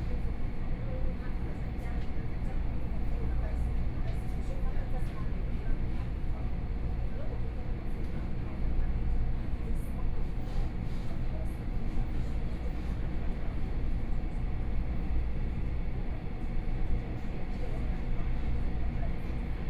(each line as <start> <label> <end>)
0.0 Local Train 19.6